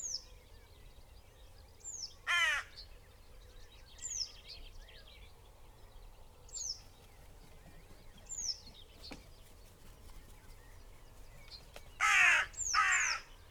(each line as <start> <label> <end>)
2.2 crows 2.8
6.8 loose flock of crows flapped 13.3
12.0 crows 13.3